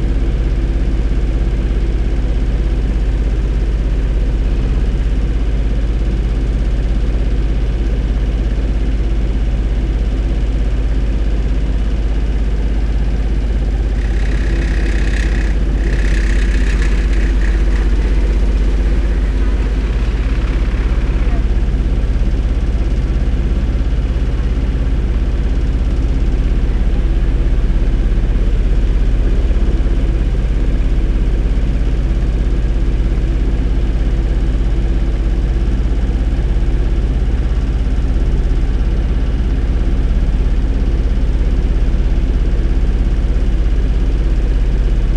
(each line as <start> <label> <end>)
10.4 generator 26.1
12.3 sewer works site 21.8
12.7 rattling hose clamp 21.0